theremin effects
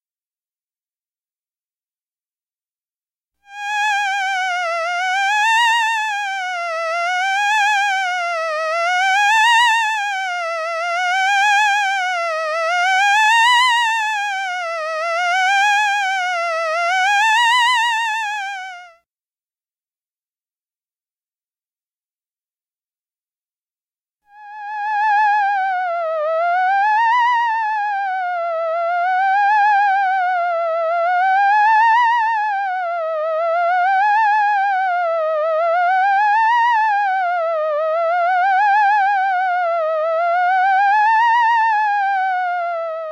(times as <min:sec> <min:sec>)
0:03.5 0:18.9, 0:24.4 0:43.1